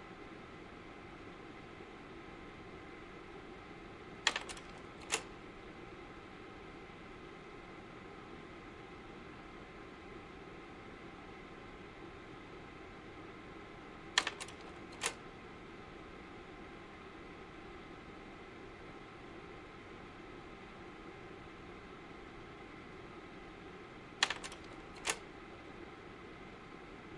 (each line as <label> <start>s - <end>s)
slide projector 4.3s - 5.3s
slide projector 14.2s - 15.2s
slide projector 24.2s - 25.2s